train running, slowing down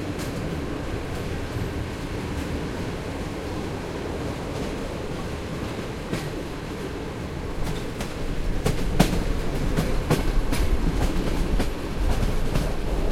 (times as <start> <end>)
7.4 13.1